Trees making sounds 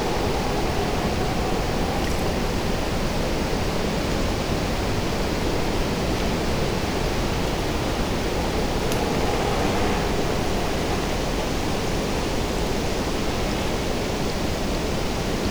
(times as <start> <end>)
0.0 3.2